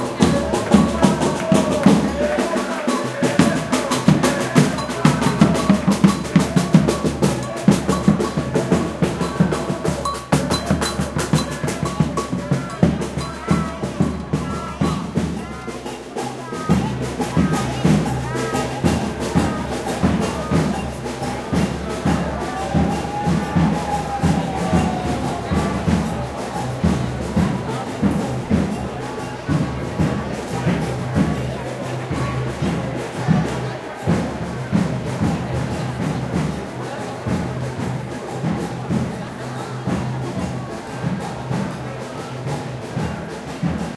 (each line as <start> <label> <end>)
0.0 slogans 37.1
0.0 percussion instruments 43.9
0.1 megaphone 26.2